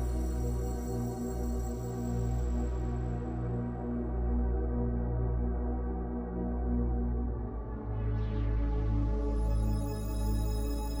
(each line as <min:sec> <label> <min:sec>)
0:00.0 synthesizer 0:11.0